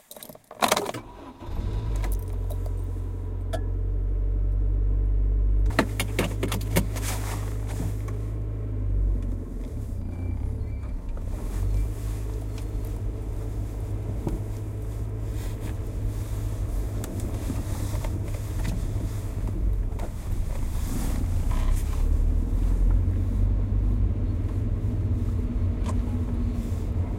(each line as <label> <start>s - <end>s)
Starting car 0.6s - 27.1s